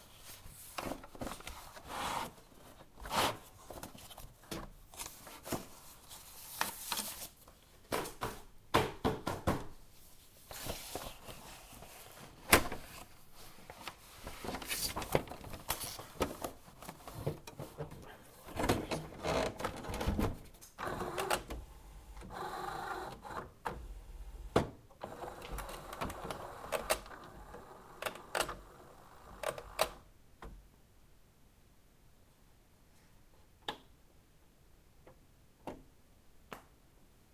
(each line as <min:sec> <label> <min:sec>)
0:20.8 printer 0:24.4
0:25.0 printer 0:30.0